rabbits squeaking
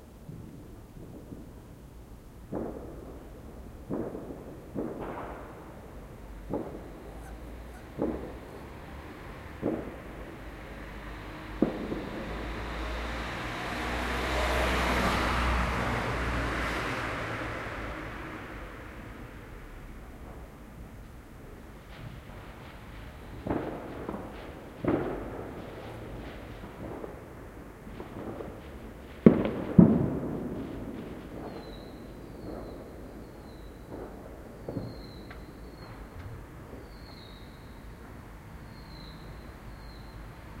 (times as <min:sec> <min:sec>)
0:07.1 0:08.7